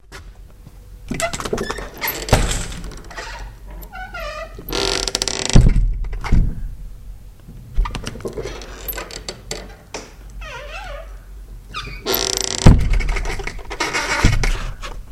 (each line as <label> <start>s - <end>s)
kitchen door 1.1s - 5.0s